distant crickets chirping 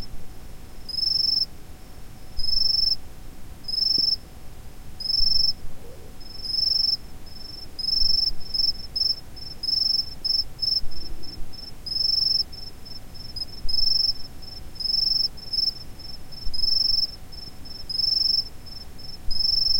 2.4 3.0, 5.0 19.7

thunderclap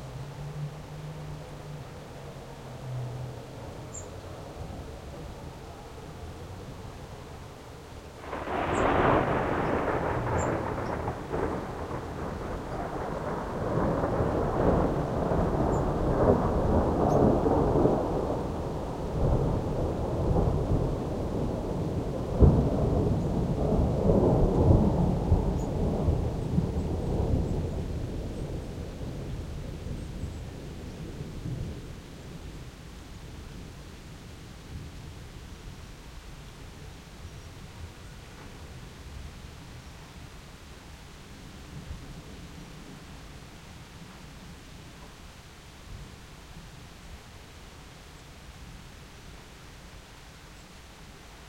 8.2 30.2

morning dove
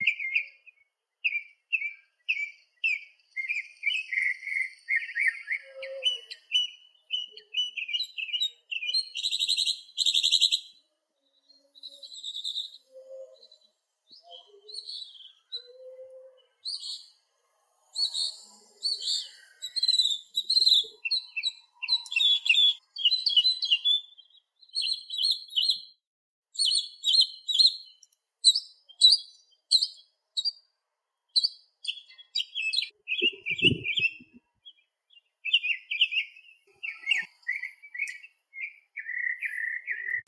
0.0 9.7, 32.0 34.8

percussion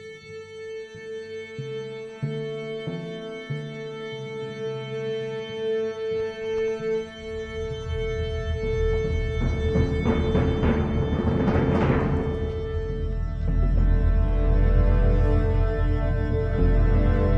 6.5 17.3

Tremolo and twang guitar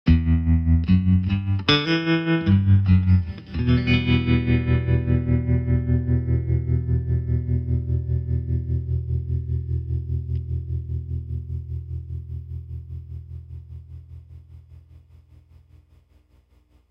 0.1 13.5

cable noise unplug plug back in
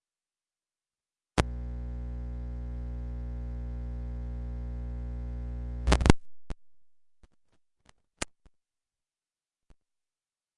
5.8 6.2

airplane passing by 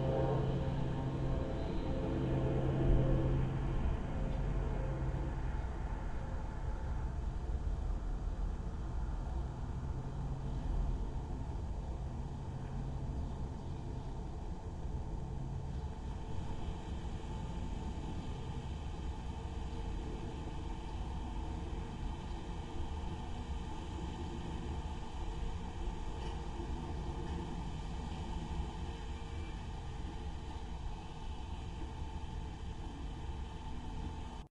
0.0 6.4

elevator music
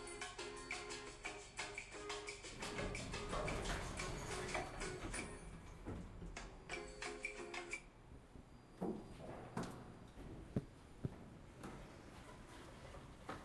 0.0 5.8, 6.4 7.9

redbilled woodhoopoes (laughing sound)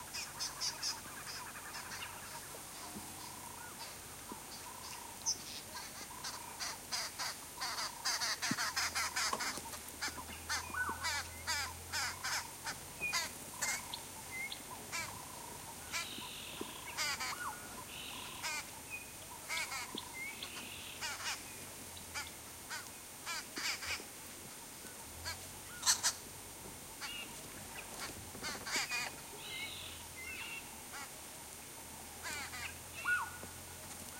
5.7 14.0, 14.7 17.5, 19.4 21.4, 25.2 26.2, 28.0 29.2, 32.2 33.3

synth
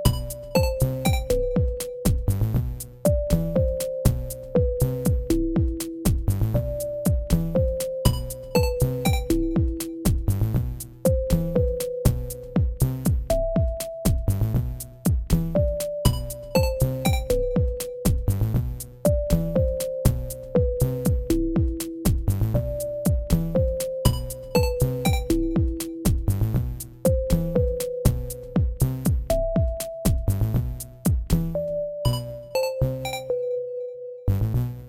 31.6 34.3

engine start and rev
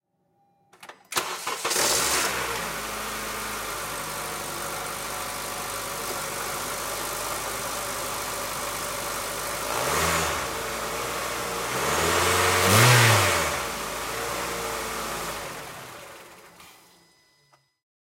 1.1 4.2, 9.5 17.0

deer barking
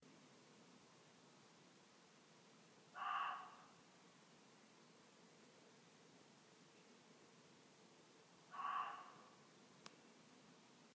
2.9 3.8, 8.5 9.4

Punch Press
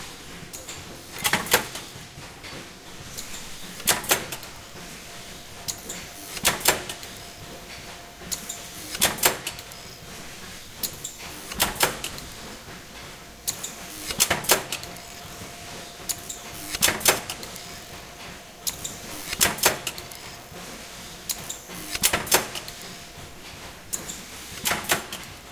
3.8 4.5, 5.7 7.3, 8.3 9.9, 10.8 12.3, 16.1 17.8, 21.3 22.8, 23.9 25.3

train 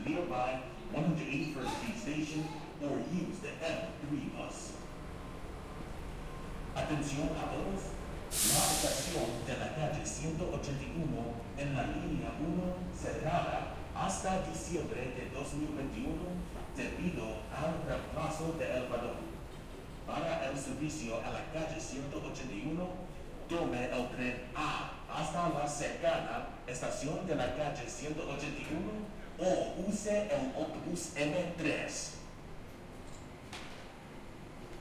5.0 6.8, 7.9 9.4

